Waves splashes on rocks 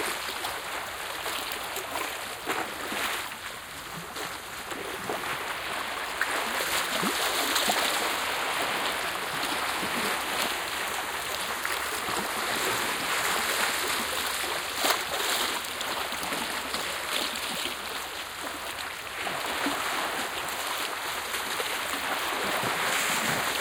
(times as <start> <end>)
19.2 23.6